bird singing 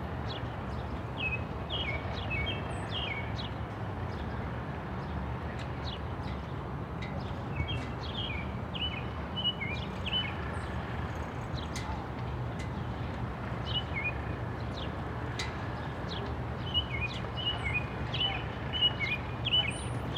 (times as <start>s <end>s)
7.6s 10.7s, 13.6s 14.2s, 16.1s 20.1s